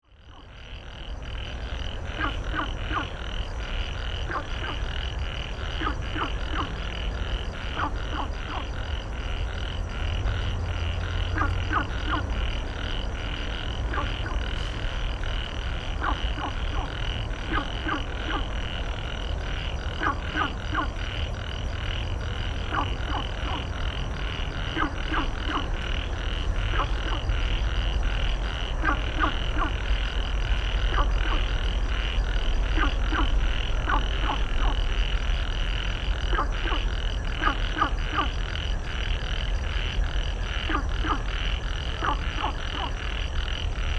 Frog chirping 0:00.1 - 0:43.9
traffic sound 0:00.6 - 0:43.9

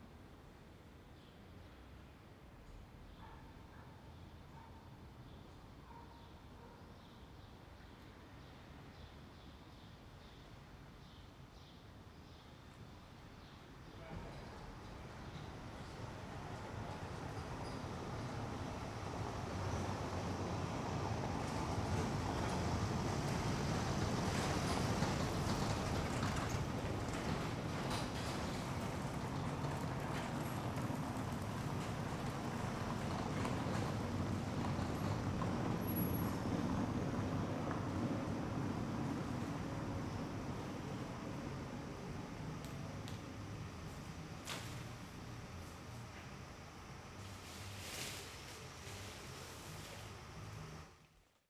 traffic noise 0:13.0 - 0:51.1

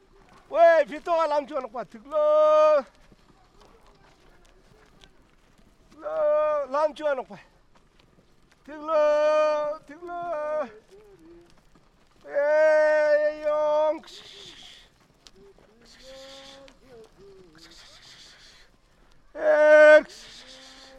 un attelage 0:00.0 - 0:20.9

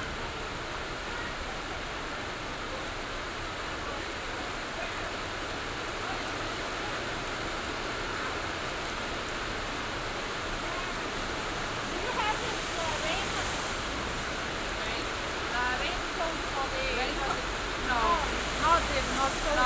heavy rain 0:00.0 - 0:19.6
conversation in english 0:10.6 - 0:19.6

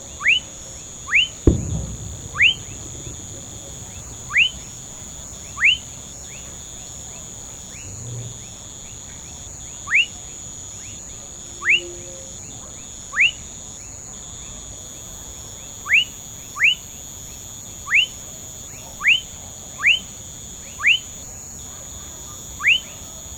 frogs 0:01.1 - 0:23.3

